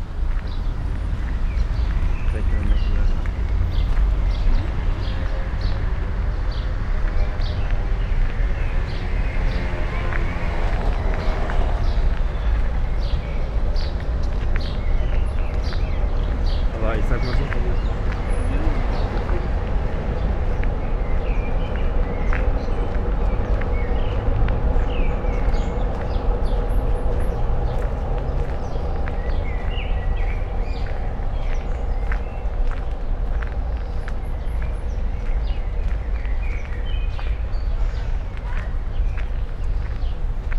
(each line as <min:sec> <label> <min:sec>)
0:00.0 slow walking on sandy pathway 0:40.5
0:16.7 comment of a man 0:17.9